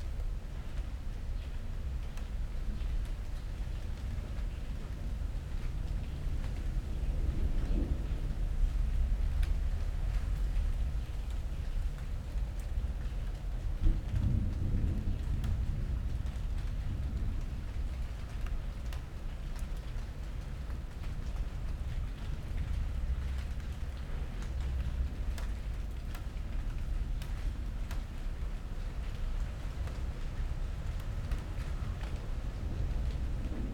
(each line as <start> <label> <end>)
0.1 first raindrops falling 33.7
13.6 thunderstorm approaching 19.2
21.7 thunderstorm approaching 33.7